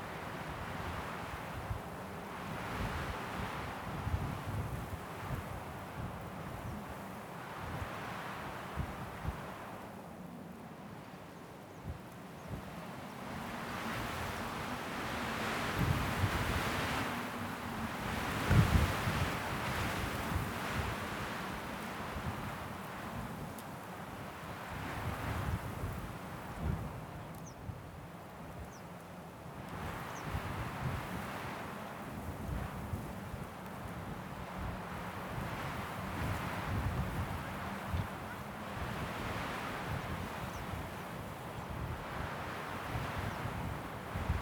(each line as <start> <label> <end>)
0.0 wind 44.4